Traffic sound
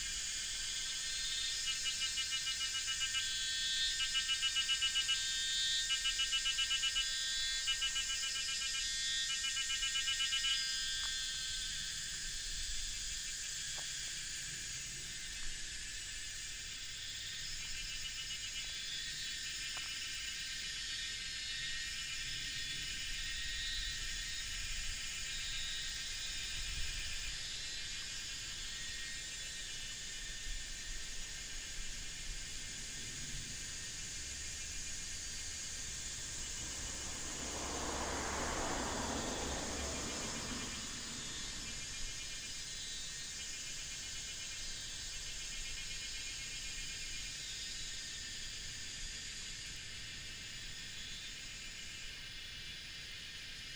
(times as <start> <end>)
30.4 43.2